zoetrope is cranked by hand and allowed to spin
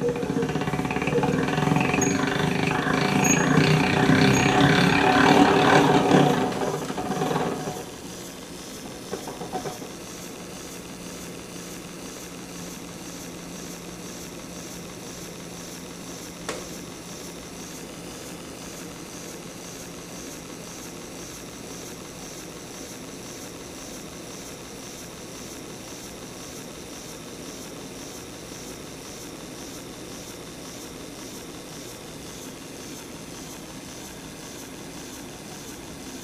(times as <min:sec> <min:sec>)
0:00.0 0:22.2